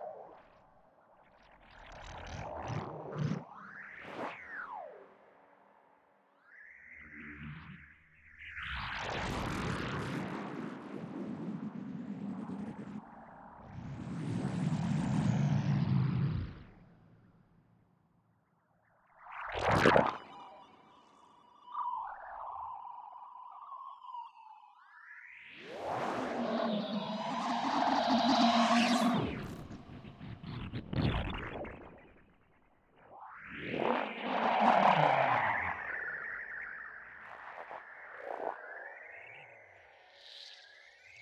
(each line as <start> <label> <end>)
19.8 drone 32.1